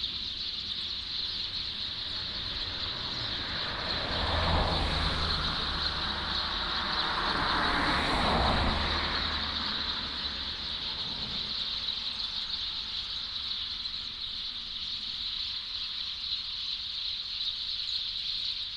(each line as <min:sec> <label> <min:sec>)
0:00.0 Traffic Sound 0:16.2
0:00.0 Birdsong 0:18.7